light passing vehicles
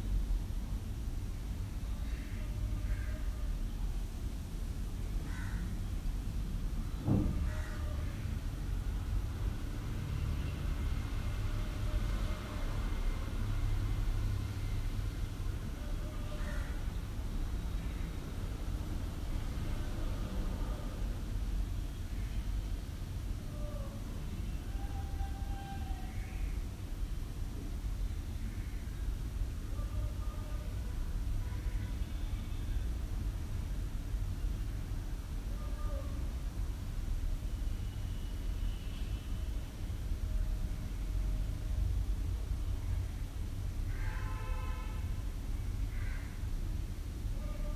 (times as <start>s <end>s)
6.4s 24.8s